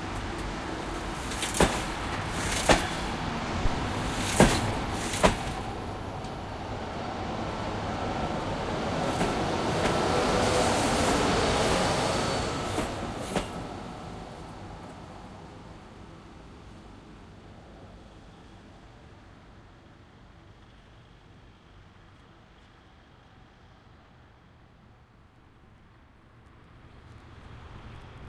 0.0s cars passing by 15.7s

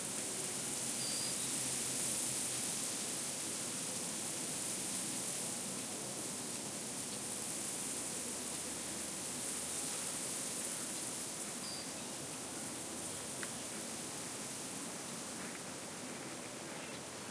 16.4s birds 17.2s

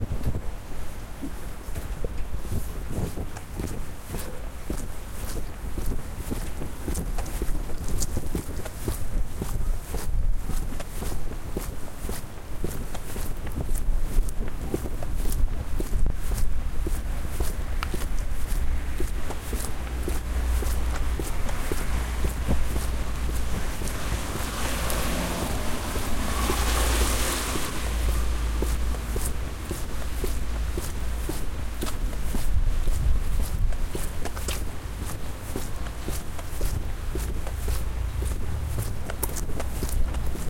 0.0s low wind rumble 40.4s
0.0s walking on the sidewalk 40.4s
16.7s cars passing by 40.4s

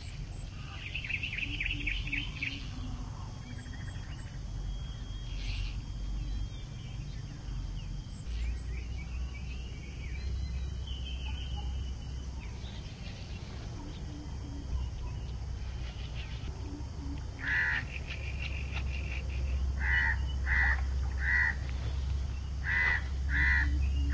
0.0s jungle sounds 24.1s
10.6s monkey noises 24.1s
22.6s macaw 24.1s

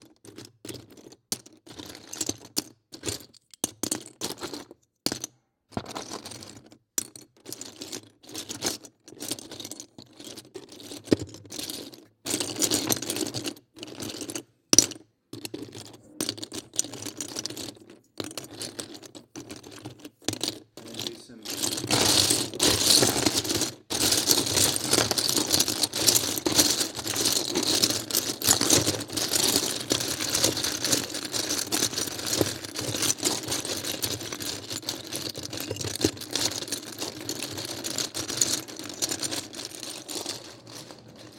0.0s Big box of lego bricks being mixed around by hand 41.3s

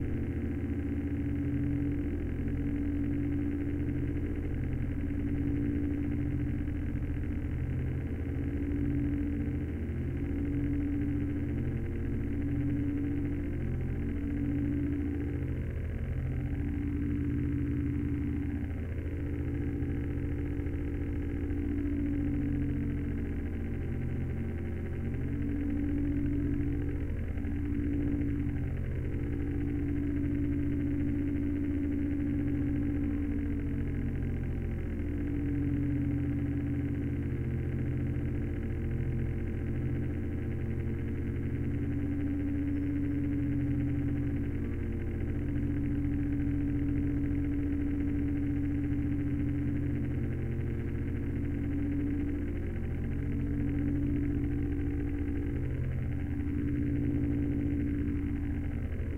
0.0s cpu fan 59.1s

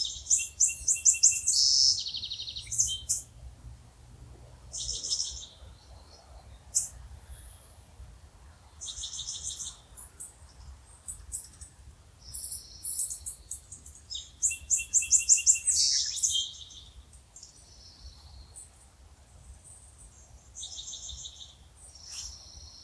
8.7s birds sounds 22.8s

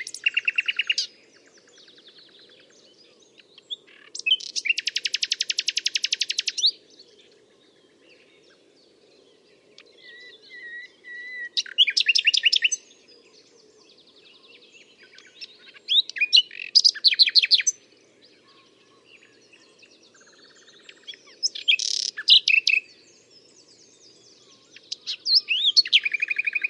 0.0s Blackcap 2.6s
0.0s Common Whitethroat 8.7s
0.0s pheasant 9.0s
0.0s green woodpecker 9.0s
0.0s Nightingale 26.6s
0.0s moorhen 26.6s
3.3s Blackcap 6.8s
9.6s Common Whitethroat 23.5s
9.6s green woodpecker 26.6s
9.7s pheasant 26.6s
9.8s Blackcap 13.4s
14.8s Blackcap 17.8s
18.5s Blackcap 26.6s

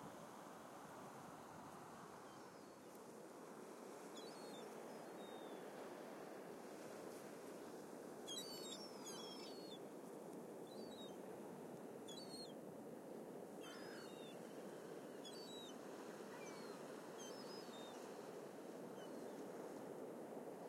0.0s waves 20.6s
0.0s wind 20.6s
13.6s seagulls 14.3s

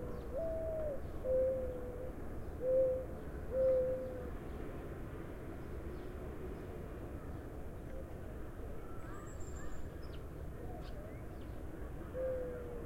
0.0s Morning Dove coos 4.4s
10.6s Morning Dove coos 12.8s

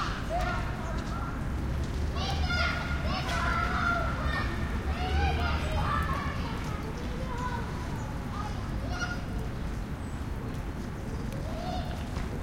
0.0s birds 12.4s
0.0s light rain almost mist 12.4s
0.0s traffic 12.4s
1.8s drip of rain from a tree above 12.4s
2.1s kids 9.7s

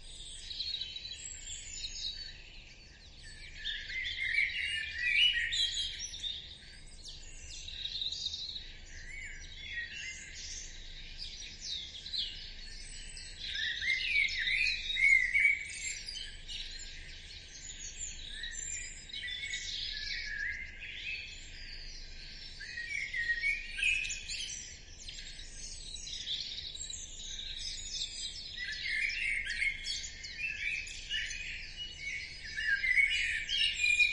0.0s Blackbird loud and clear 34.1s
8.9s several other birds 34.1s

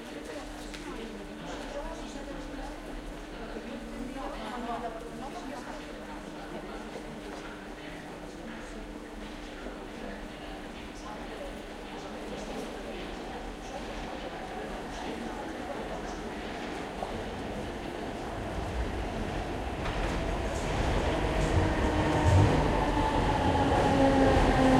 0.0s talking in the background 24.7s
15.8s metro coming and going 24.7s

